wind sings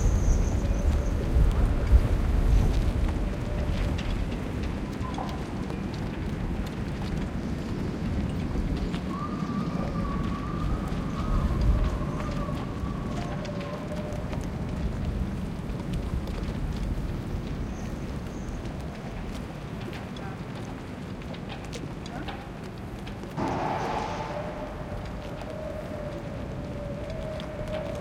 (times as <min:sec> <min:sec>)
0:00.0 0:05.6, 0:07.3 0:14.6, 0:23.4 0:28.0